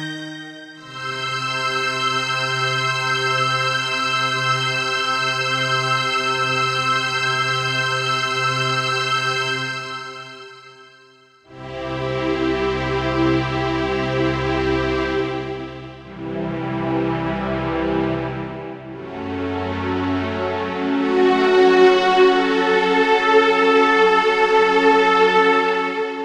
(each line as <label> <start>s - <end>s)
classical strings 11.5s - 26.2s